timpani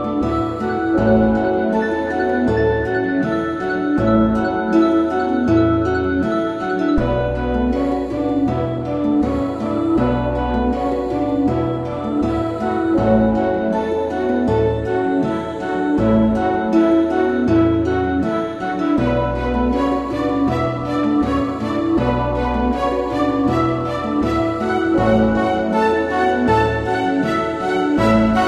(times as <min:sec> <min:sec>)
0:18.3 0:28.4